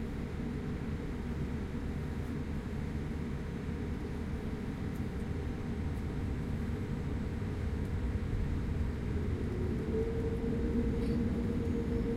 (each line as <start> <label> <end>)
8.0 Plane taking off 12.1